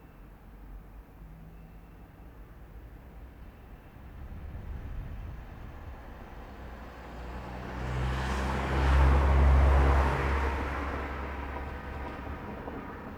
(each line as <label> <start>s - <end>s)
all sorts of cars 4.1s - 13.1s